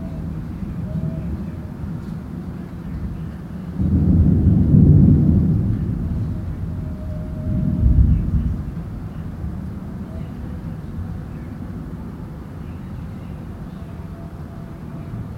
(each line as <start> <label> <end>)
0.0 rumbling thunder 11.2
5.3 busy road 15.3